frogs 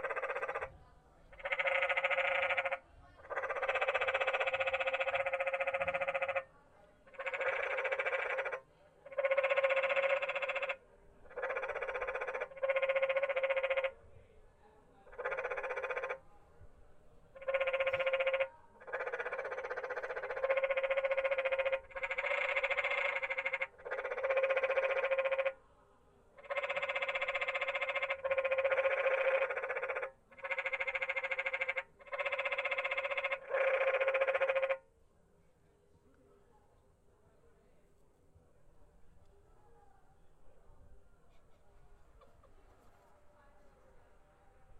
0.0s 6.5s, 7.1s 14.0s, 15.0s 16.3s, 17.3s 25.6s, 26.4s 34.9s

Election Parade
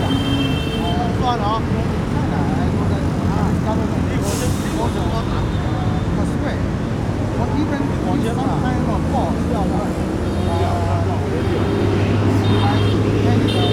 0.0s 1.3s, 10.0s 13.7s

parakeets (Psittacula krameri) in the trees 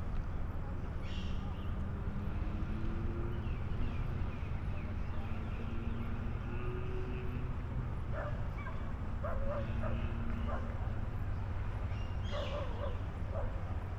1.0s 2.5s, 3.3s 7.3s, 11.8s 13.4s

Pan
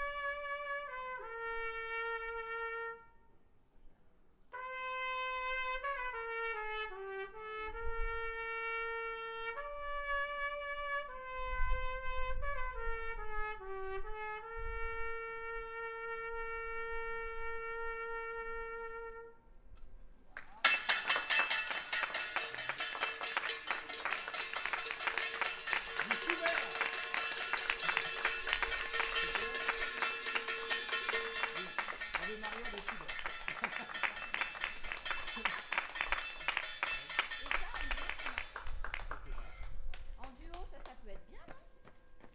20.6s 38.6s

